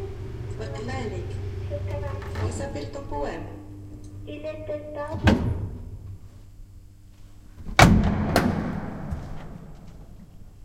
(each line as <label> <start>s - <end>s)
elevator 0.0s - 6.0s